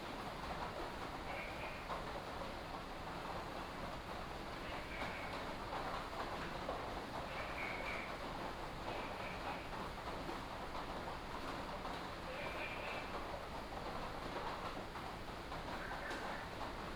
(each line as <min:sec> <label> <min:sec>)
0:00.0 Rainy Day 0:16.9